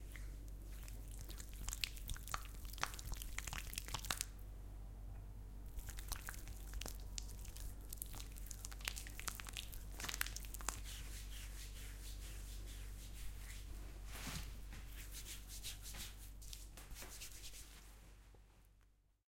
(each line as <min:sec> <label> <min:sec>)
0:05.8 Rubbing a thick cream between hands 0:18.2